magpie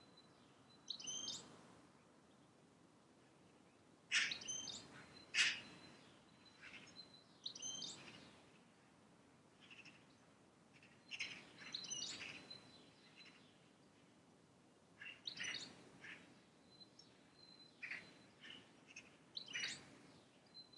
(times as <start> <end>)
4.1 5.9